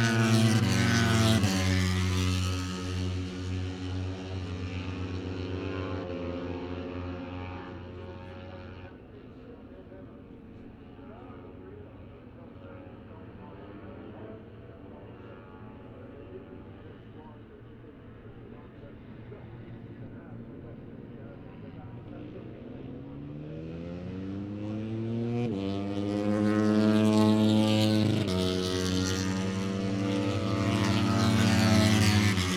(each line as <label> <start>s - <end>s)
moto three 18.3s - 32.5s